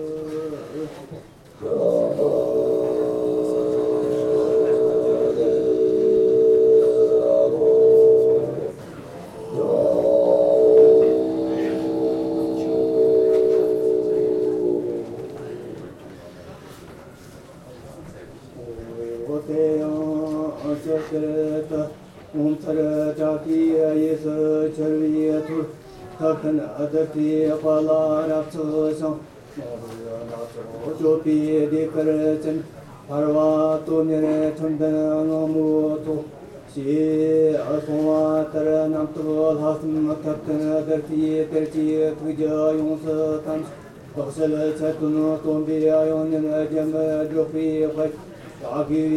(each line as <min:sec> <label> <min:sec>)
0:00.0 Buddhist chants 0:49.1